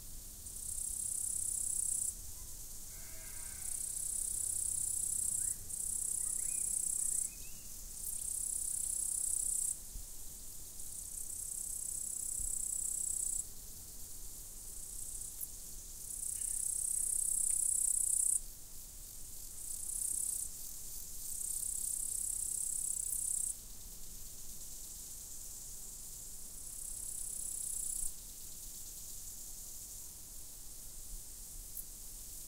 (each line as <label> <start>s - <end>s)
crickets 0.0s - 32.4s
sheep 2.4s - 3.8s